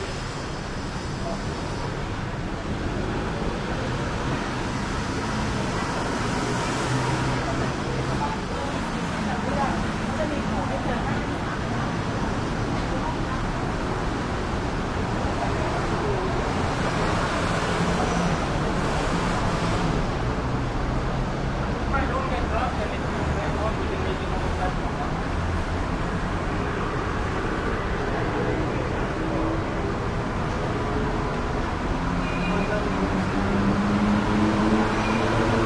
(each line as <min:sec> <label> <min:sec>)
0:00.0 traffic heavy 0:35.6
0:05.5 voices 0:20.1